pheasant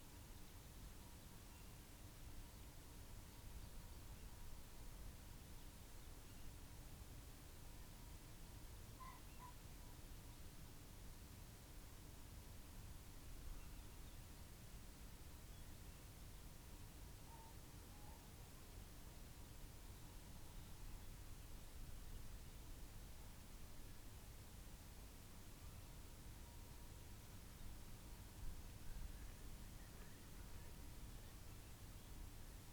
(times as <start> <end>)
9.0 9.6